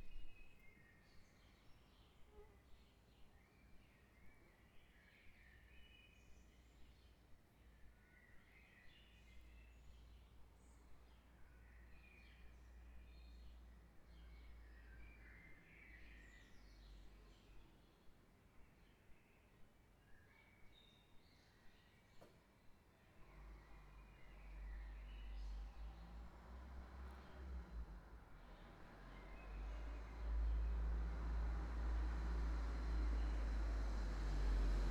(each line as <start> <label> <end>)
0.0 Birds 34.9